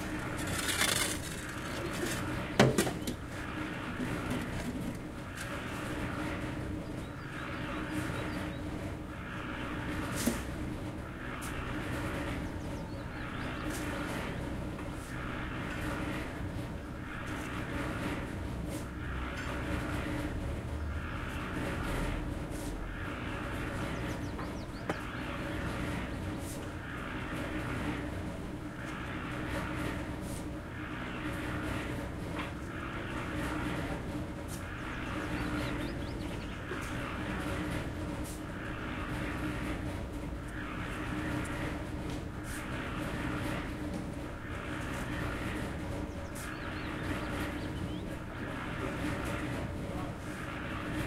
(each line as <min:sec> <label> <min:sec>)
0:00.0 concrete mixer 0:02.8
0:00.0 workers 0:51.0